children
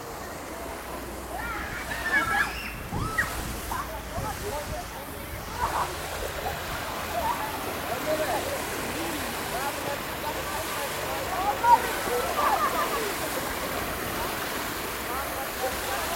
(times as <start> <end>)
0.1 4.6